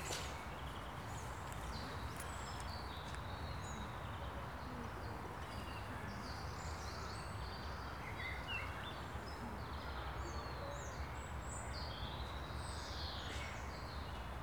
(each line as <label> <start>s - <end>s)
strollers walking here and there on a gravel path 0.0s - 6.5s